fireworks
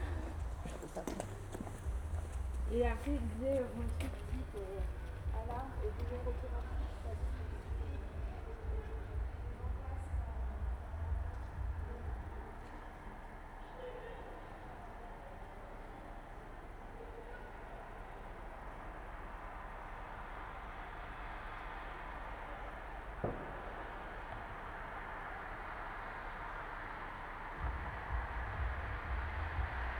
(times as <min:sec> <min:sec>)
0:21.0 0:29.9